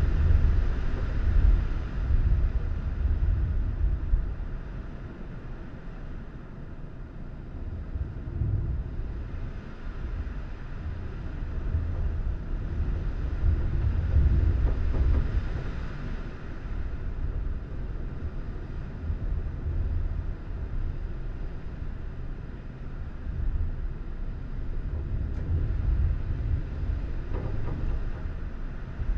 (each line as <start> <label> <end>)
0.0 Heavy wind from inside a house 29.1